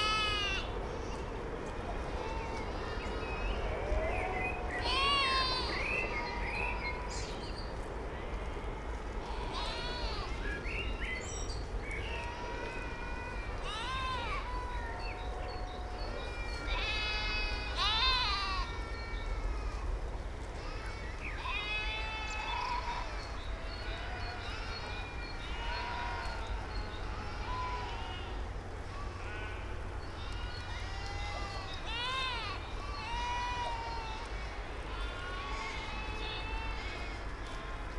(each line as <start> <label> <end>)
0.0 flock of sheep 37.9